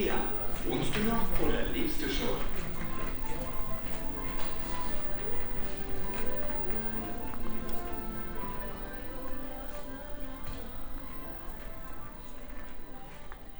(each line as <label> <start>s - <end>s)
speaker advertisment 0.0s - 8.8s
people 0.0s - 13.5s